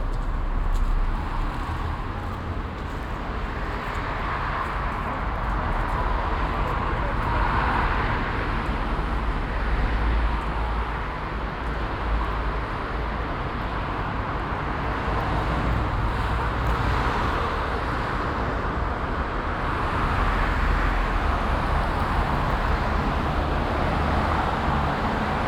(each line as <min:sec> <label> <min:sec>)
0:00.0 pedestrians and cyclists 0:25.4
0:00.0 slight wind rumble 0:25.4
0:00.0 traffic noise 0:25.4